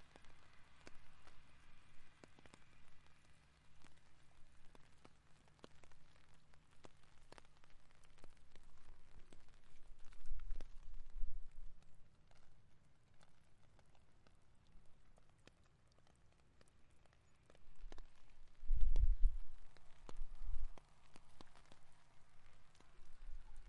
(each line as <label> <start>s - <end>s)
rain coming down 0.0s - 23.6s
wind 0.0s - 23.6s
Light traffic on a small highway going by 0.0s - 6.5s